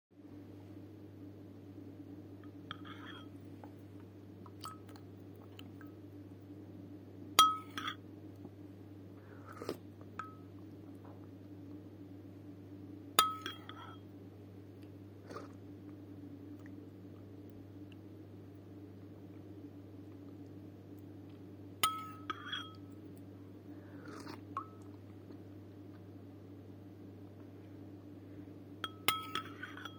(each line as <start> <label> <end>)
2.4 eating soup 6.0
9.2 eating soup 11.8
14.8 eating soup 26.1